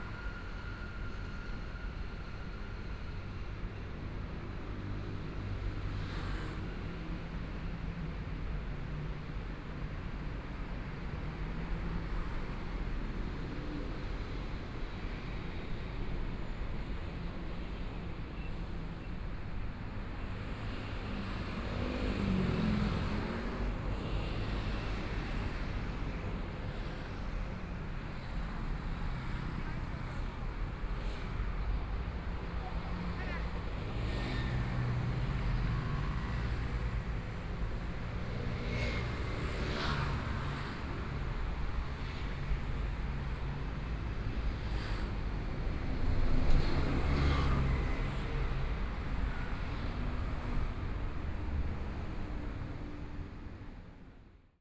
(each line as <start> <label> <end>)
13.2 Traffic Sound 54.2